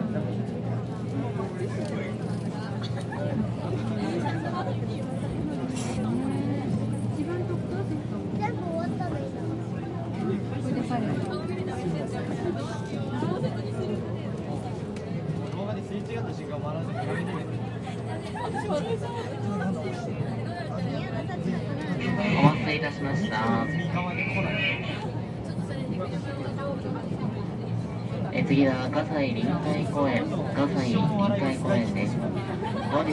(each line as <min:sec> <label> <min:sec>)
0:00.0 train 0:33.1
0:16.8 murmured voices 0:33.1